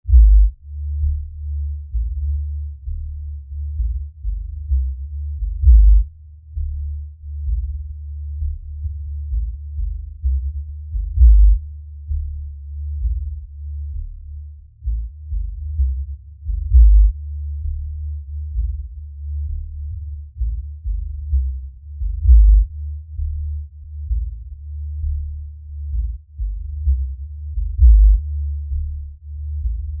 0.0s Bass 30.0s
0.1s Kick Drum 0.6s
4.7s Kick Drum 6.8s
9.3s Kick Drum 13.5s
14.8s Kick Drum 17.2s
20.4s Kick Drum 23.3s
25.9s Kick Drum 28.8s

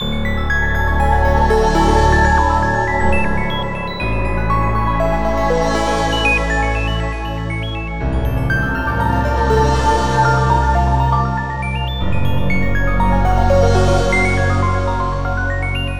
0.0s ocean music 15.9s

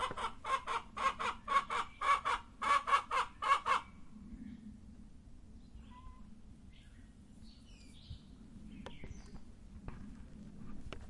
0.0s chick noises 4.0s

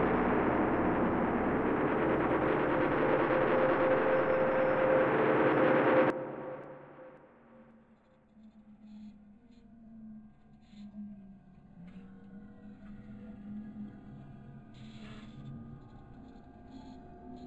0.0s drone 7.6s

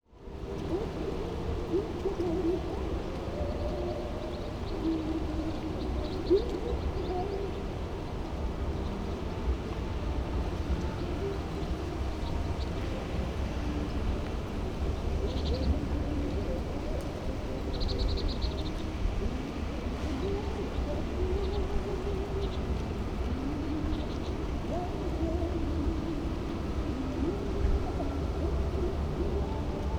0.0s faint music 29.9s
0.1s Strong winds 29.9s

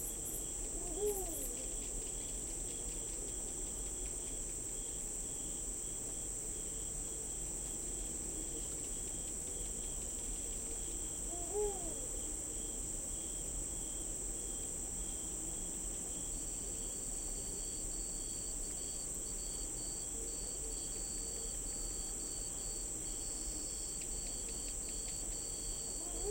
0.0s crickets 26.3s
11.3s owl 12.0s
25.9s owl 26.3s

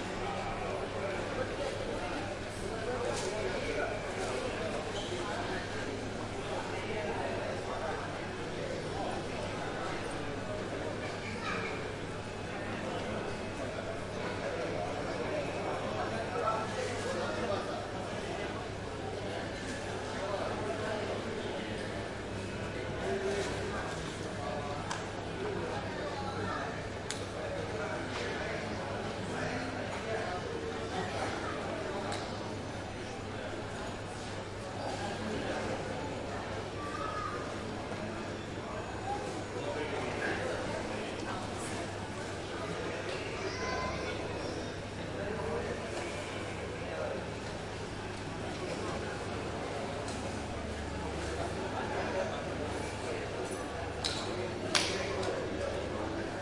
0.0s airport crowd 56.4s

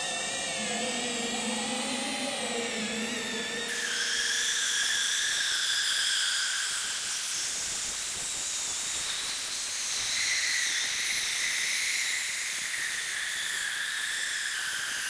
0.0s Space Drone 5.8s

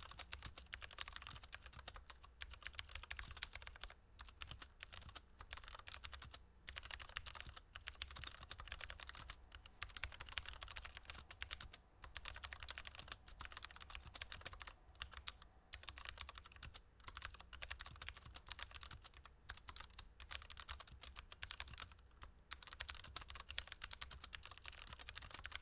0.0s Mechanical Keyboard Typing 25.6s

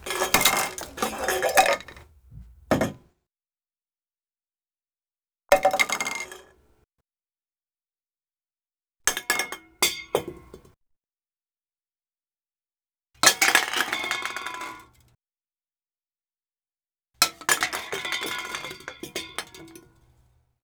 0.0s cans being knocked over / falling 3.0s

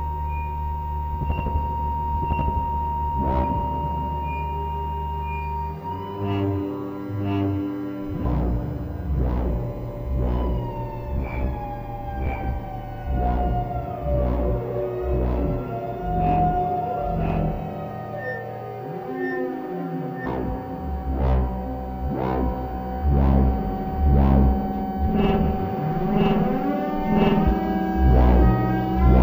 0.0s modular synthesizer 29.2s

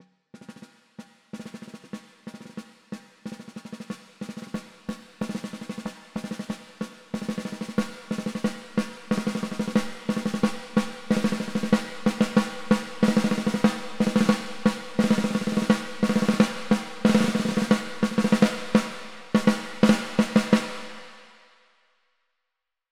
3.3s snare 21.3s

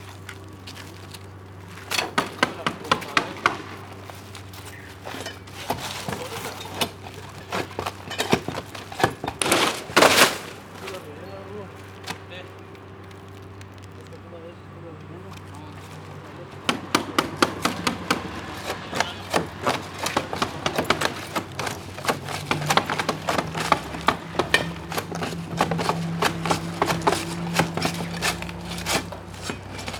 0.0s laying down plastic 14.6s
0.0s Roofers working on the roof 29.9s
0.0s removing shingles 29.9s
1.8s hammering 13.9s
15.4s hammering 29.9s

